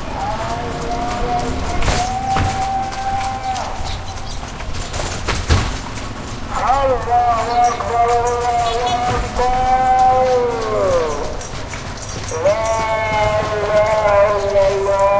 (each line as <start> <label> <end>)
0.0 Horse Carriage 15.1
0.0 crowd 15.1
0.0 traffic 15.1